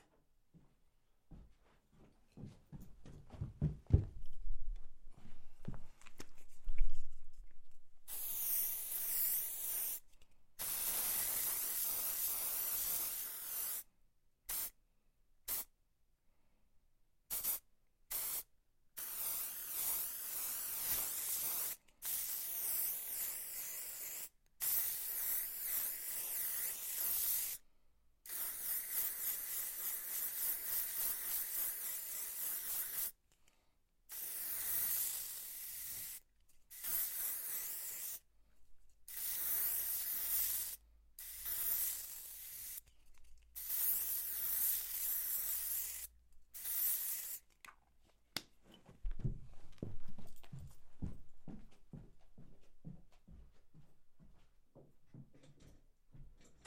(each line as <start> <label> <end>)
8.1 spraying a paint 10.0
10.6 spraying a paint 13.9
14.5 spraying a paint 14.8
15.5 spraying a paint 15.7
17.3 spraying a paint 27.6
28.2 spraying a paint 33.2
34.1 spraying a paint 38.2
39.1 spraying a paint 42.9
43.6 spraying a paint 47.5